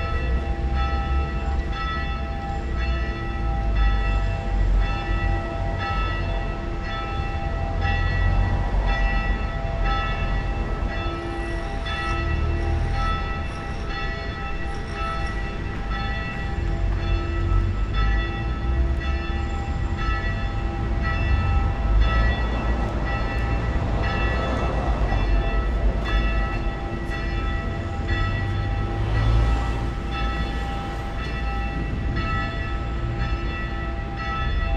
0.0s funeral bells 34.7s

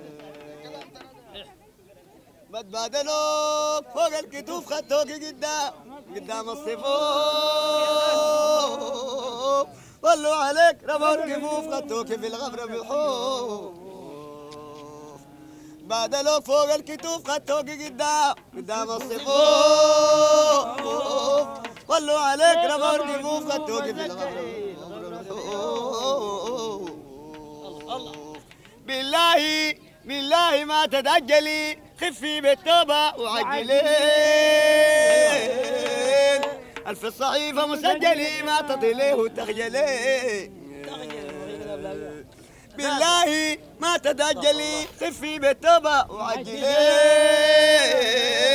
6.4s song before dhikr 29.0s
33.4s song before dhikr 48.5s

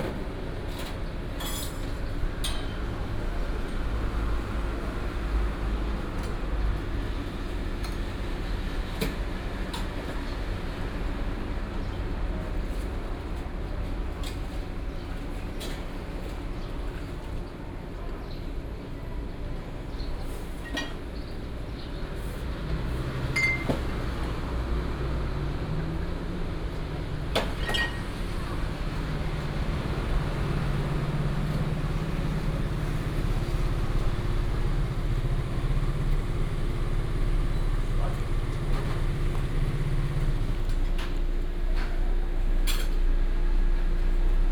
17.9s Traffic sound 44.5s

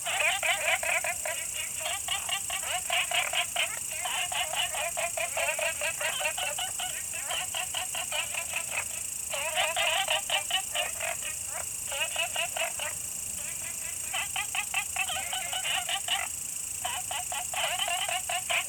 0.0s Frog calls 18.6s
0.0s Insect sounds 18.6s

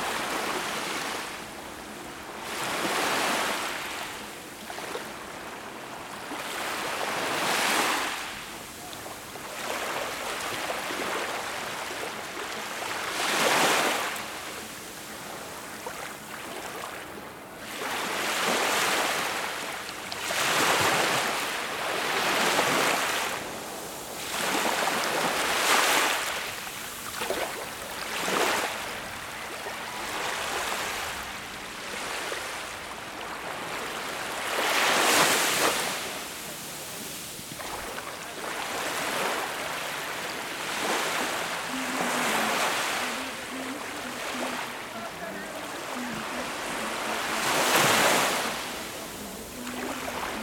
35.2s People enjoy walking and gathering 50.4s

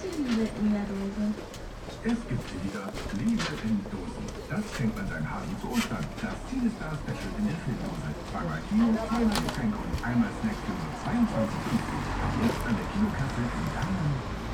0.0s facade works 14.5s
1.9s radio 14.4s

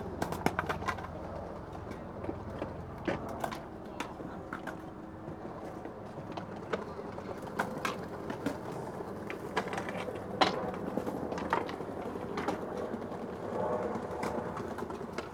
0.0s skaters practising 15.3s

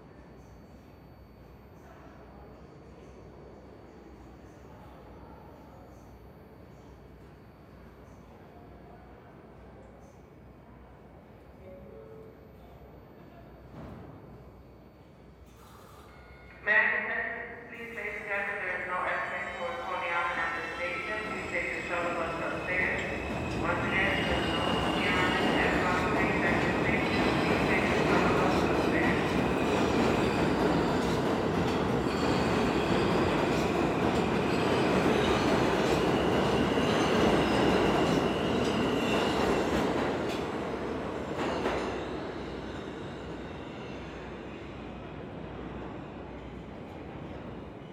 0.0s train announcements 42.0s

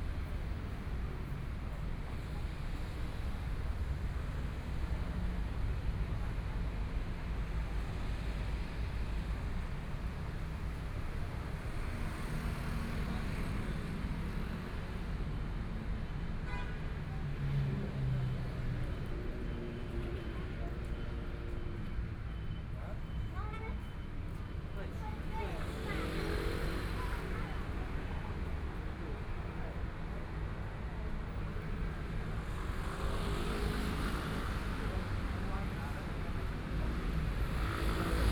17.2s Traffic Sound 38.3s

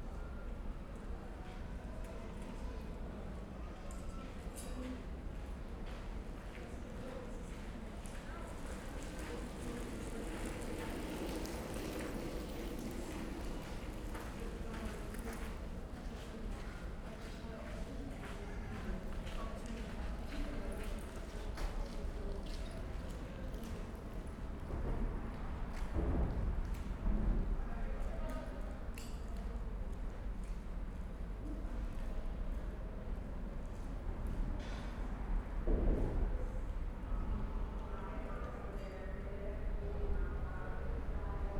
5.1s pedestrians 28.9s
5.1s trains 29.0s
8.5s bikes 15.8s

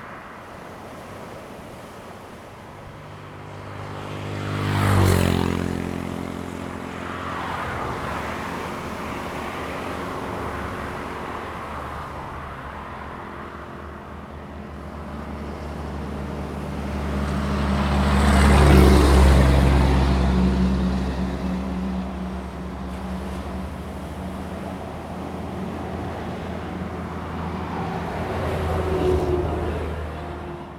0.0s Traffic 30.7s
0.0s waves 30.7s

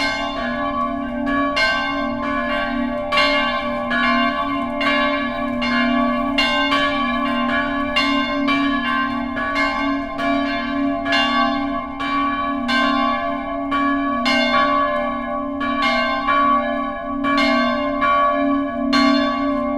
0.0s church bells 19.7s

